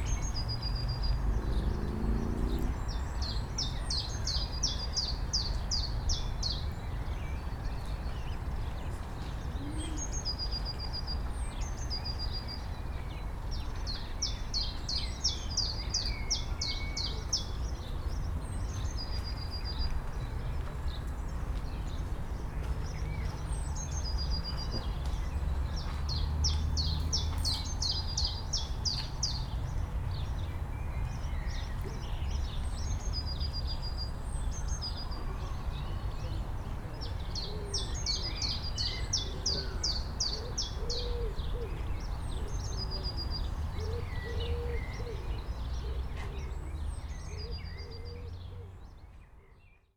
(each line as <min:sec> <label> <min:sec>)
0:00.0 Birds 0:49.9